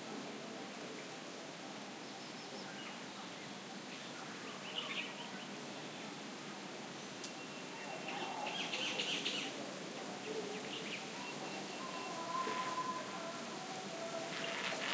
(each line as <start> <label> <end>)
0.0 leaves rustle 14.9
0.0 light wind 14.9
6.9 birds 14.9
11.0 loudspeaker song was heard from a distance 14.9